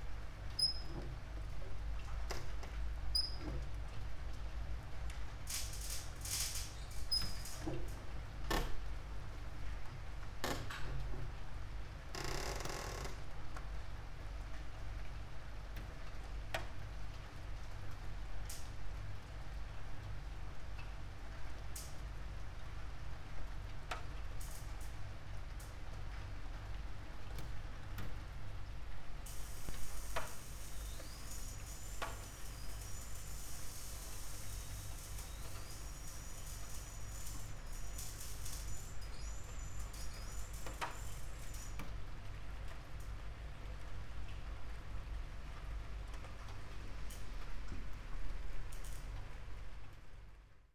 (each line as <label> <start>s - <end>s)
rain 13.4s - 50.2s